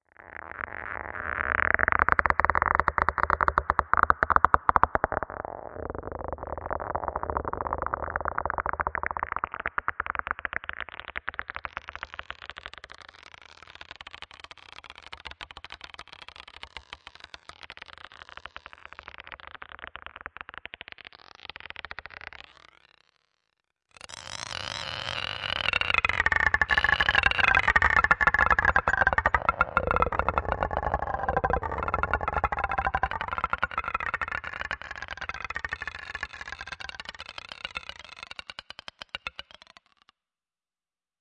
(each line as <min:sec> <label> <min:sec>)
0:01.1 marble of stone or glass bouncing and rolling 0:13.0
0:24.8 marble of stone or glass bouncing and rolling 0:40.0